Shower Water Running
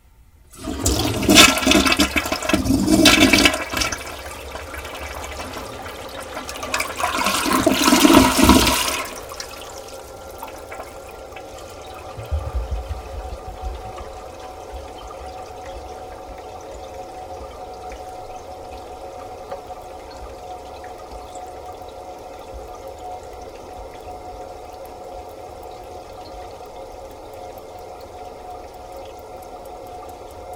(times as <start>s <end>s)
0.6s 17.9s